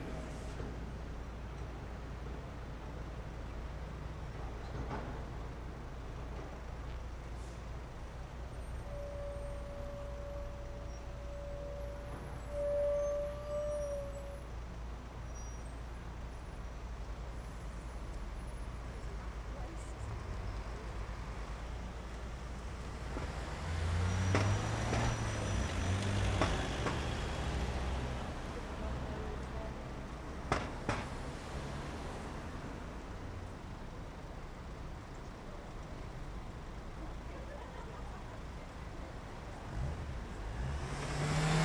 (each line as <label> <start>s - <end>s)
Traffic passing 15.9s - 41.6s